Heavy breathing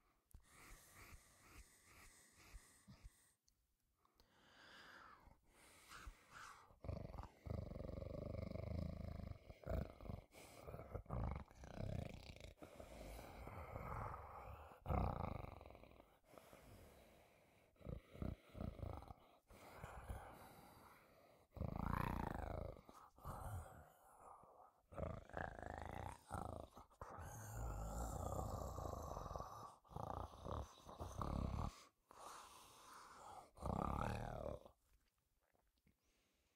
0.1 3.5, 4.2 7.4, 12.5 14.9, 16.0 21.6, 26.2 33.7

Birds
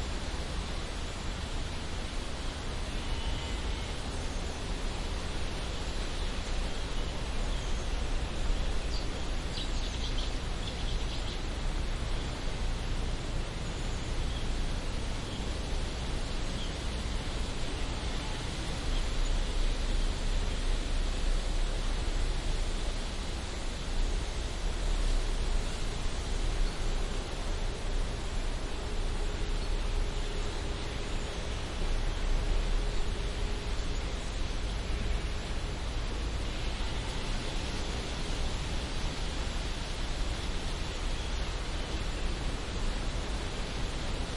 0.4 22.0

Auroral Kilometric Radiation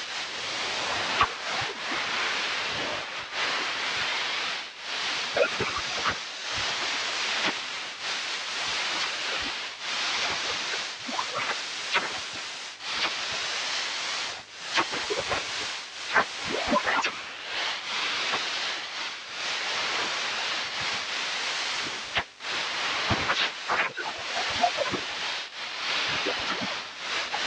10.2 17.3

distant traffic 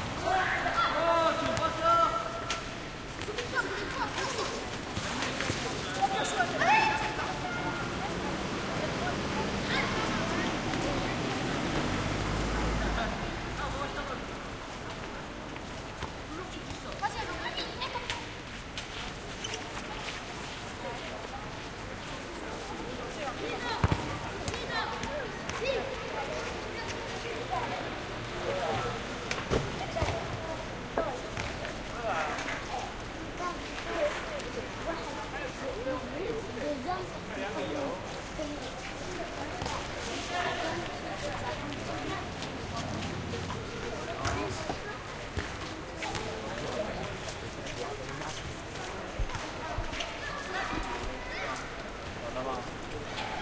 7.3 14.9

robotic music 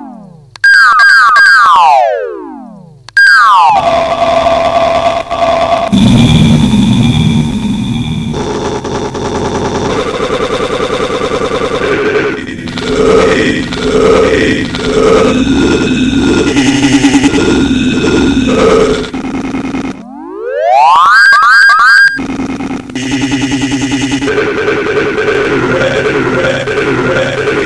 5.9 20.0, 20.8 27.6

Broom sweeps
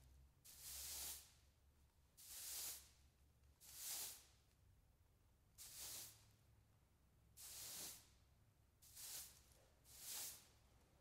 0.5 1.4, 2.2 3.0, 3.6 4.4, 5.6 6.3, 7.4 8.2, 8.8 10.6

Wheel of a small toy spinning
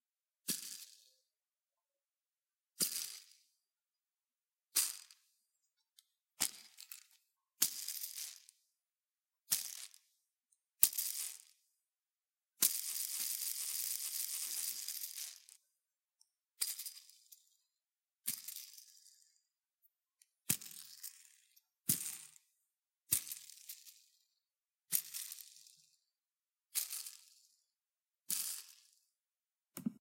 6.4 8.6, 10.8 11.6, 12.6 15.6, 16.6 17.6, 23.1 24.2, 24.9 26.0, 26.7 27.7, 28.3 29.1

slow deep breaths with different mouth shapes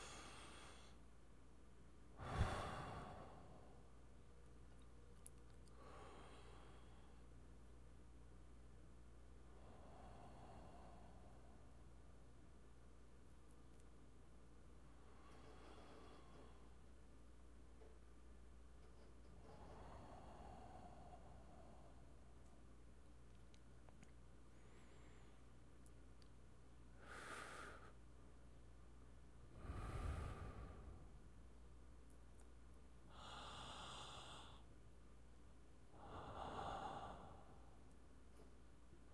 0.0 1.2, 2.1 4.2, 5.2 7.6, 9.3 12.4, 14.8 17.2, 18.8 22.8, 23.4 26.3, 26.9 28.5, 29.3 32.2, 33.0 35.0, 35.7 39.1

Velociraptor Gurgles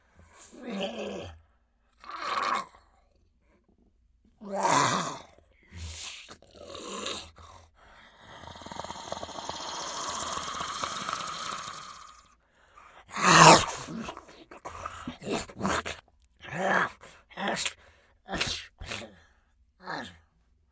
8.3 12.3

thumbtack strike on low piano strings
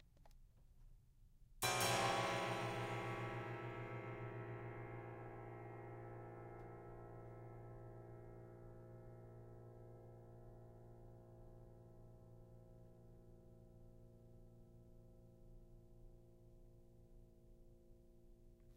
1.6 7.7

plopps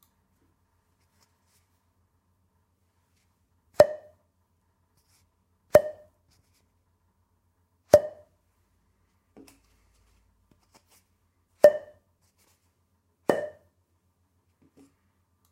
11.6 12.0

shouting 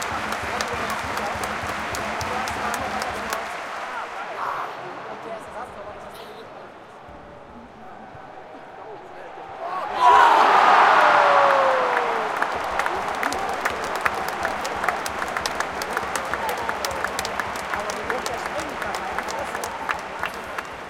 9.6 20.8

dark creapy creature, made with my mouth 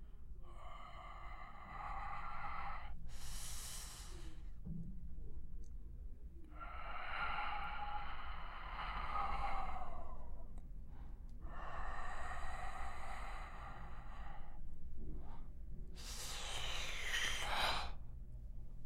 16.0 18.0

